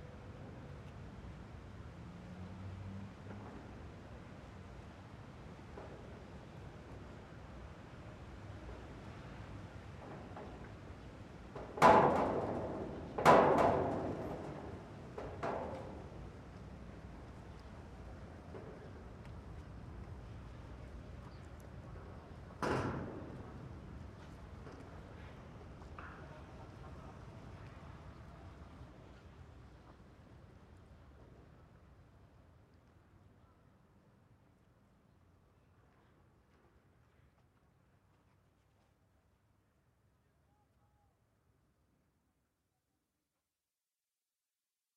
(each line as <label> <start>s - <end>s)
wind 0.0s - 42.5s